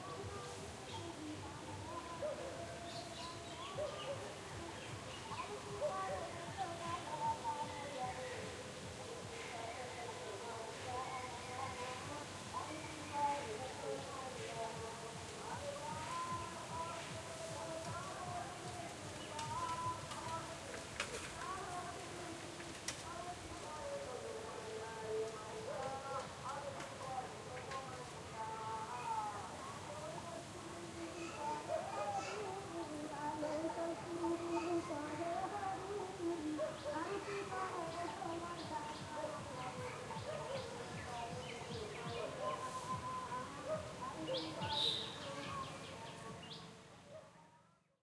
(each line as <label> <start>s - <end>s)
distant loudspeaker 0.0s - 47.4s
birds 0.0s - 47.1s